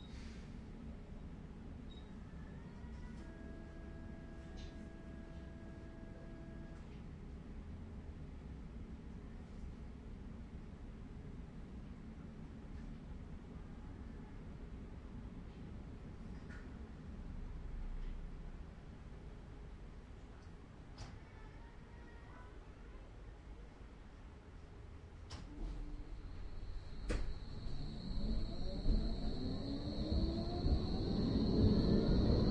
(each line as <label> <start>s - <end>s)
Driving the Tram 2.5s - 7.0s
announcement 2.9s - 6.8s
Driving the Tram 25.3s - 32.5s